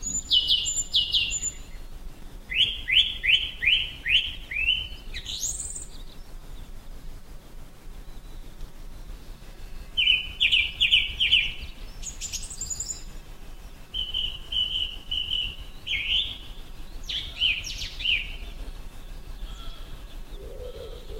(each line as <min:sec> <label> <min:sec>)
0:00.0 blackbird sings 0:01.9
0:02.5 blackbird sings 0:06.3
0:09.9 blackbird sings 0:18.7
0:19.4 blackbird sings 0:21.1
0:19.4 wood pigeon 0:21.1